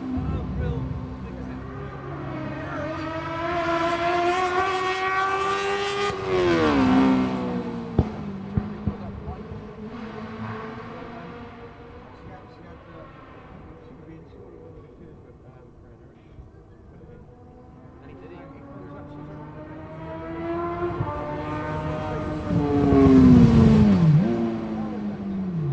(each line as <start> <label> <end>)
0.0 Sidecar 25.7